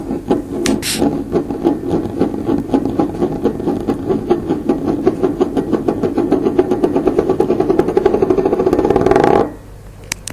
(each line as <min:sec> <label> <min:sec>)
0:00.0 tea mug spinning 0:09.6